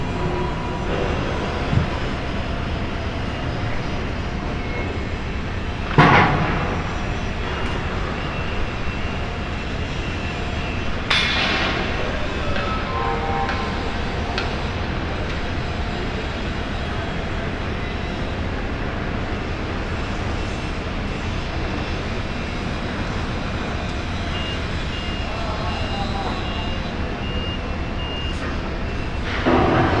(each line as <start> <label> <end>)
0.0 footsteps echoing through the dock 4.5
0.0 forklift engines 30.0